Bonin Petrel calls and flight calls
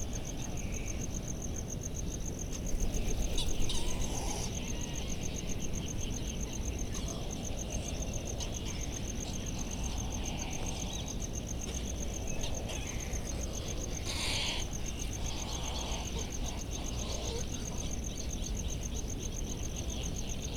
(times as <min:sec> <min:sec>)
0:02.8 0:04.9